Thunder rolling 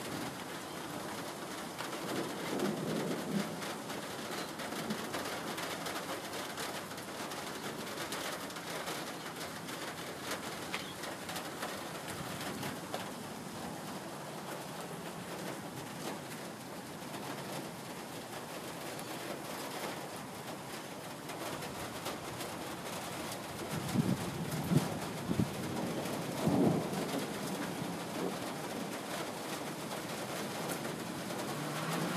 0:02.0 0:03.8, 0:23.6 0:29.0

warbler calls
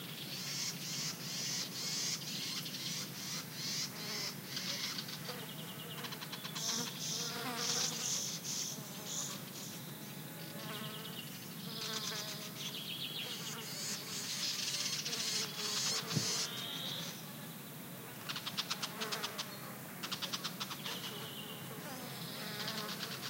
0:00.0 0:17.2

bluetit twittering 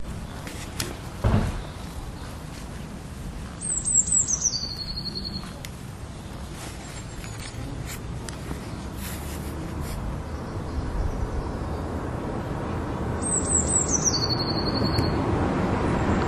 0:03.6 0:05.5, 0:13.2 0:15.2

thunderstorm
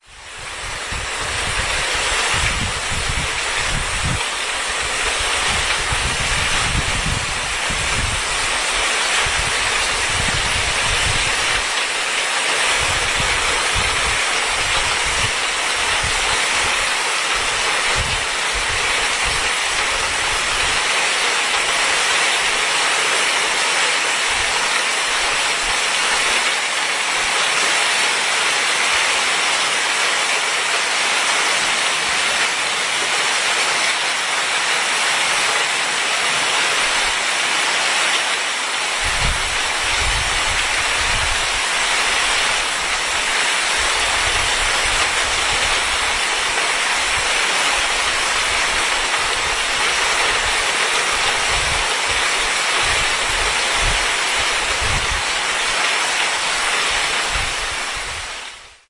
0:00.5 0:04.3, 0:39.0 0:55.5

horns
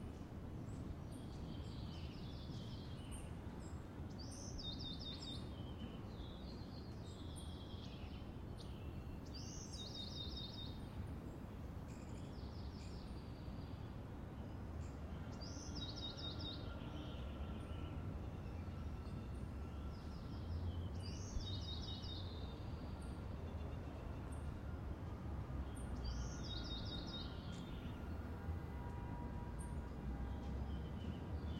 0:27.8 0:30.7

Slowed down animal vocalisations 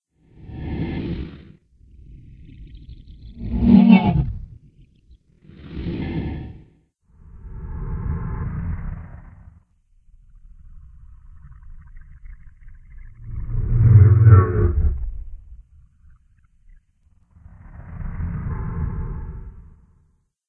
0:10.3 0:16.8

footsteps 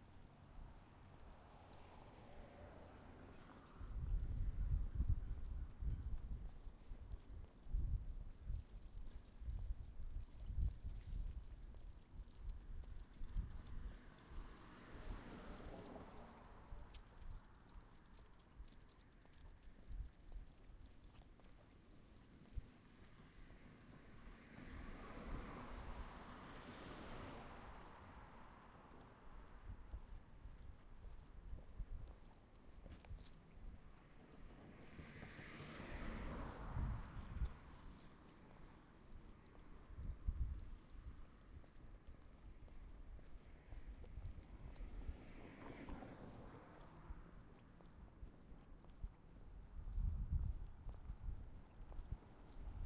0:27.3 0:39.8

